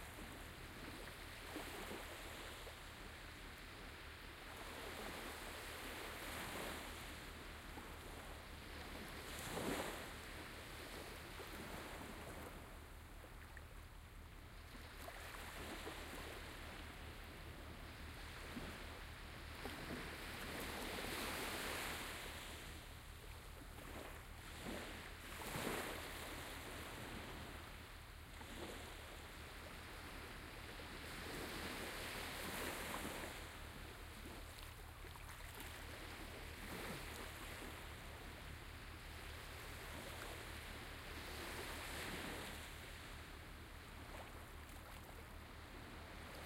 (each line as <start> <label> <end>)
0.0 waves 46.4